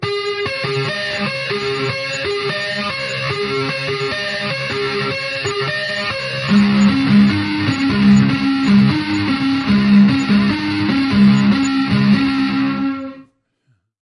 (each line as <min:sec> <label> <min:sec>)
0:00.3 simple keyboard pattern 0:12.9